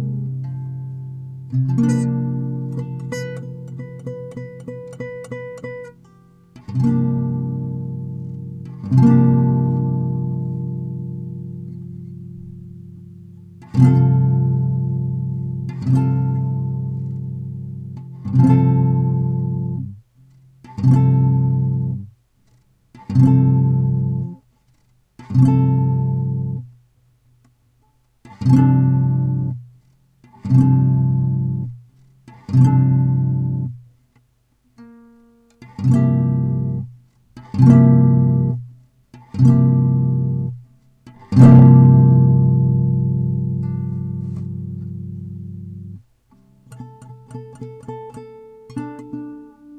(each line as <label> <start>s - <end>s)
guitar improvisation 0.0s - 26.8s
guitar improvisation 27.8s - 33.9s
guitar improvisation 34.7s - 49.7s